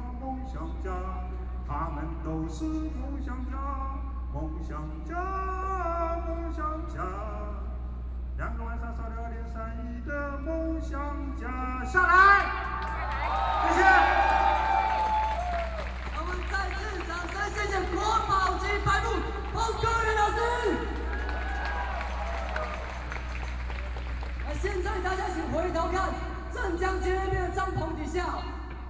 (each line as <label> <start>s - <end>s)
Protest Speech 12.0s - 28.8s